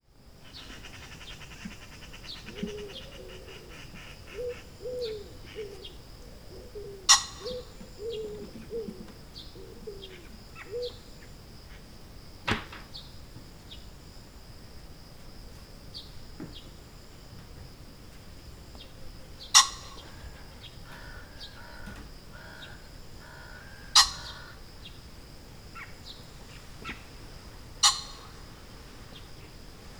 chirping of crickets 0.0 - 29.9
pheasants 0.3 - 12.1
unidentified birds 0.4 - 13.9
green woodpecker 0.4 - 11.3
sparrows 0.4 - 11.8
hooded crows 0.5 - 11.0
pheasants 15.5 - 29.9
unidentified birds 18.6 - 29.9
green woodpecker 18.8 - 25.0
sparrows 18.8 - 25.1
hooded crows 19.4 - 25.1
magpie and its calls 19.5 - 24.6
green woodpecker 25.7 - 29.9
sparrows 25.7 - 29.9
hooded crows 25.8 - 29.6
magpie and its calls 27.8 - 28.6

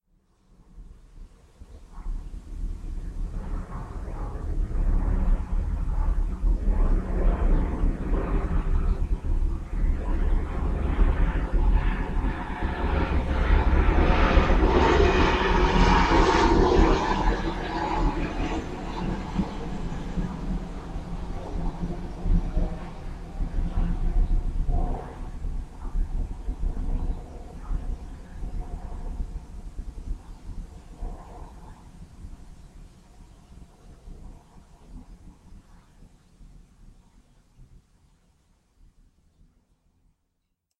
plane 0.0 - 40.2

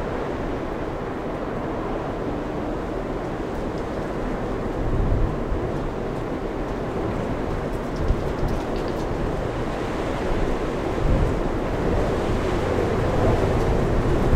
storm 0.0 - 14.3
wind 0.0 - 14.3

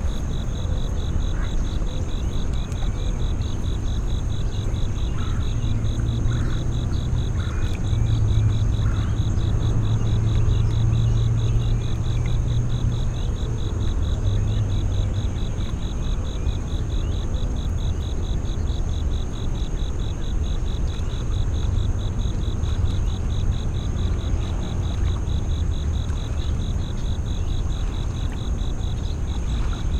crickets 0.0 - 29.9
waves lapping 20.8 - 29.9

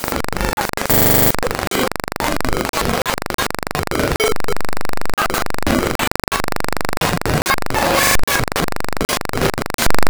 buzzing 0.8 - 1.4

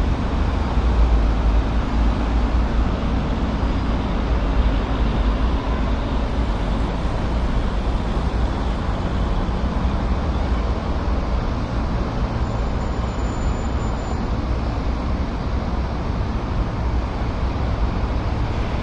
Traffic 0.0 - 18.8
Trains 0.0 - 18.8

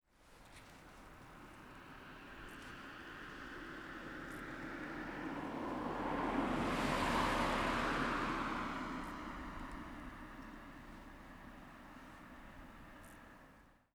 Single car driving past 1.2 - 13.2

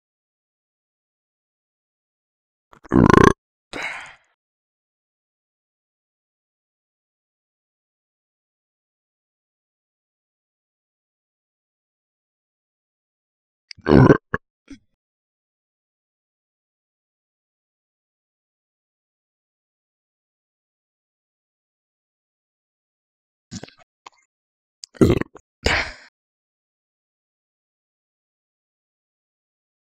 burping 2.8 - 4.0
burping 13.7 - 14.4
burping 23.5 - 23.9
burping 24.8 - 26.1

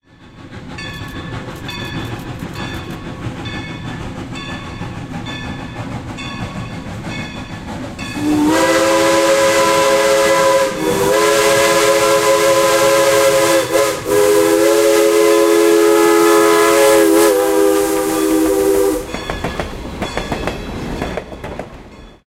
Steam Train at Crossing 0.0 - 22.2
blowing its whistle 8.2 - 19.2

